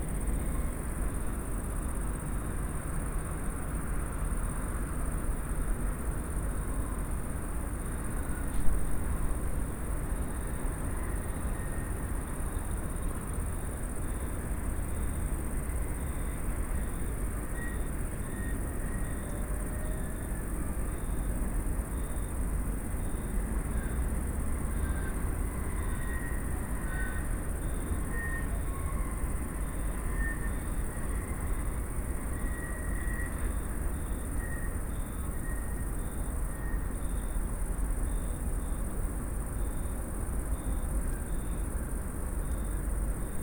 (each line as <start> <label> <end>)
0.0 crickets 43.4
0.0 train 43.4